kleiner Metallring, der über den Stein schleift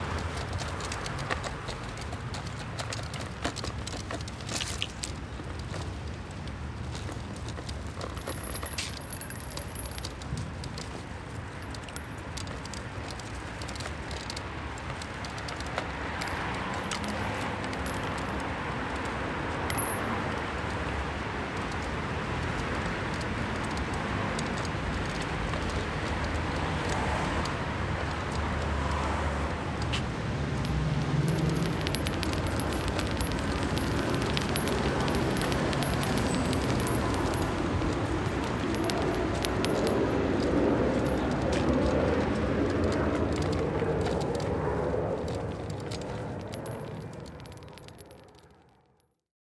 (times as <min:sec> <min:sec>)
0:06.9 0:20.9, 0:29.8 0:48.8